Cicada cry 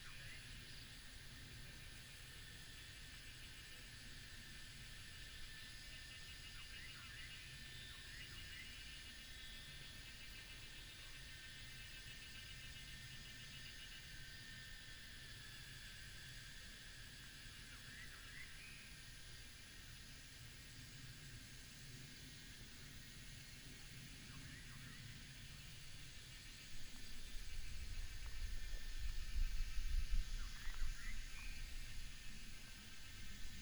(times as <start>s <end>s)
17.6s 19.7s, 23.4s 33.6s